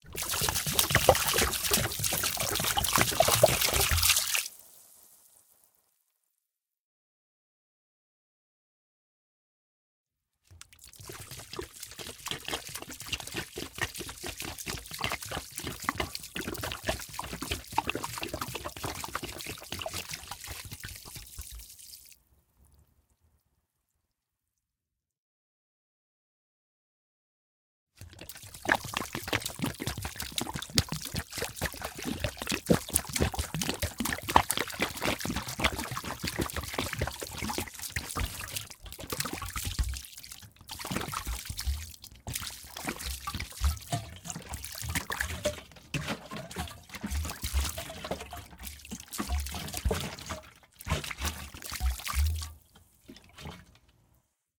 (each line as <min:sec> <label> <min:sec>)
0:00.0 plastic gas container pour gas or water on ground 0:05.4
0:10.5 plastic gas container pour gas or water on ground 0:22.2
0:28.0 plastic gas container pour gas or water on ground 0:54.0